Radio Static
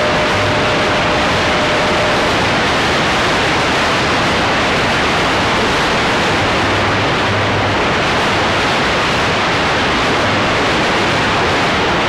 0:00.0 0:08.8

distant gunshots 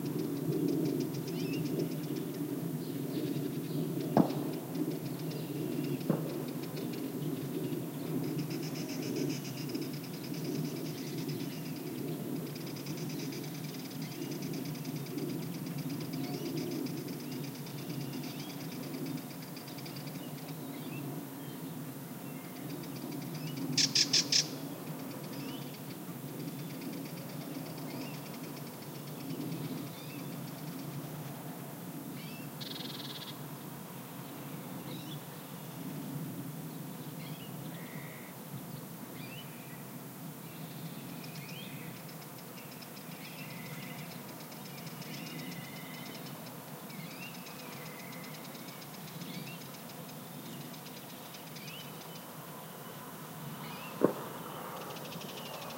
0:54.0 0:54.3

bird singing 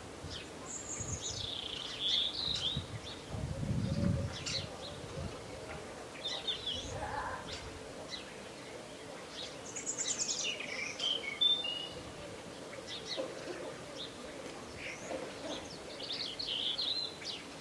0:00.7 0:03.2, 0:14.8 0:17.5

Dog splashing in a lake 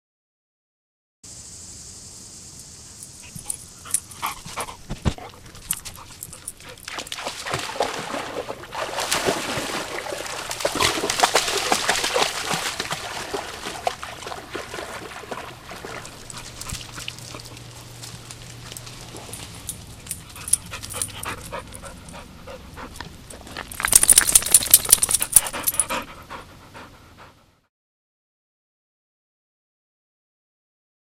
0:03.2 0:25.9

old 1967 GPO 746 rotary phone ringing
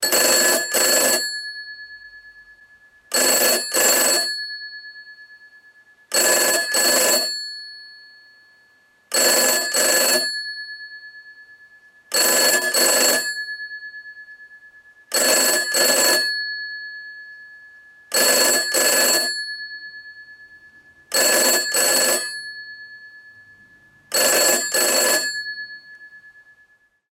0:00.0 0:01.8, 0:03.1 0:04.6, 0:06.1 0:07.9, 0:09.1 0:11.0, 0:12.1 0:13.8, 0:15.1 0:17.0, 0:18.1 0:19.9, 0:21.1 0:23.3, 0:24.1 0:26.2

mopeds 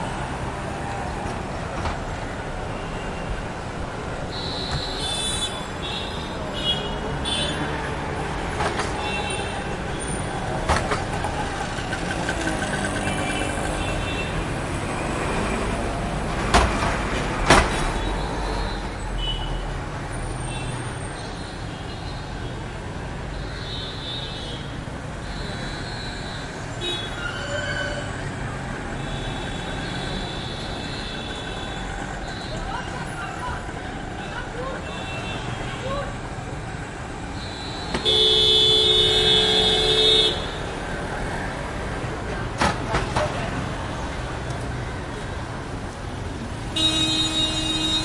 0:10.9 0:13.9

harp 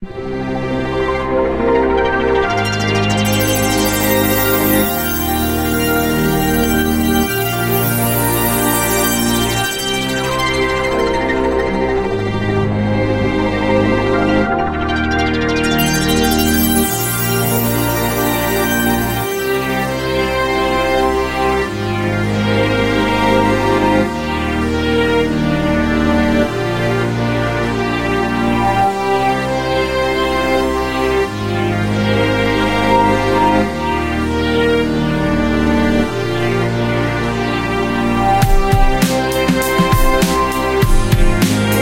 0:02.2 0:34.8

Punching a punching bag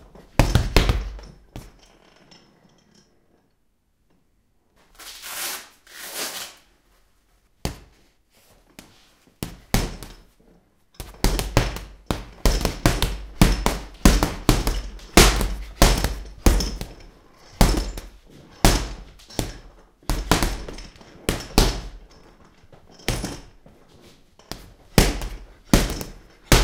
0:00.2 0:01.8, 0:09.4 0:10.2, 0:11.0 0:22.2, 0:23.0 0:23.6, 0:24.5 0:26.6

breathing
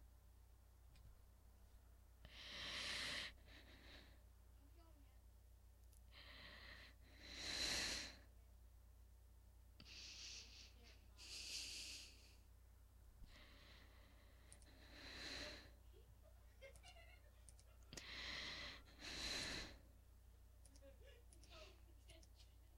0:02.2 0:04.3, 0:06.1 0:08.3, 0:09.8 0:12.5, 0:13.2 0:15.9, 0:17.9 0:19.9

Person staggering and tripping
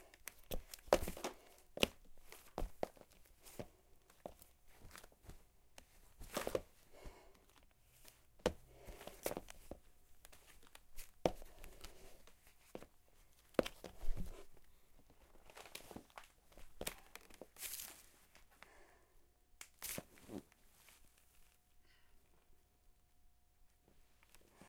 0:00.3 0:05.4, 0:06.1 0:07.5

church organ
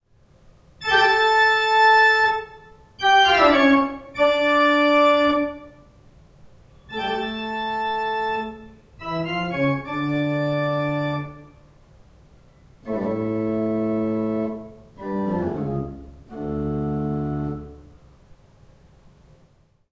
0:00.8 0:05.8, 0:06.8 0:11.6, 0:12.7 0:17.9

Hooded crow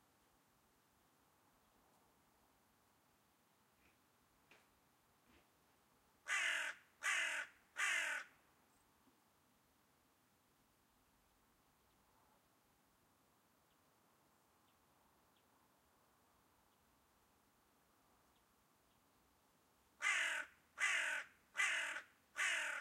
0:06.2 0:08.4, 0:20.0 0:22.8

